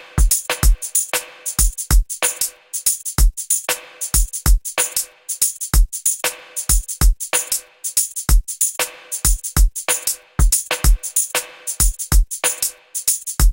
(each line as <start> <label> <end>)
0.0 snare 1.5
0.0 hihat 13.5
0.0 tambourine 13.5
9.9 snare 12.9